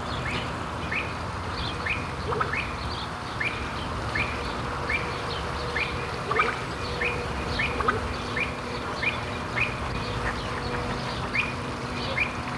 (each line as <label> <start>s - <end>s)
bird voices 4.3s - 12.5s